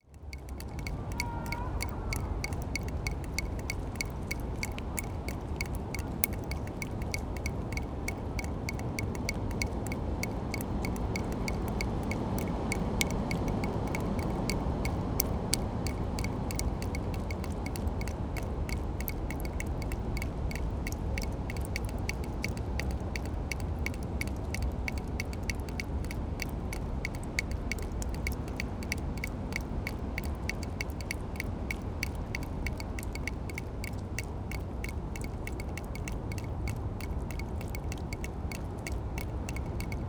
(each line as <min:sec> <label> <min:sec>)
0:00.0 drain pipe dripping 0:40.0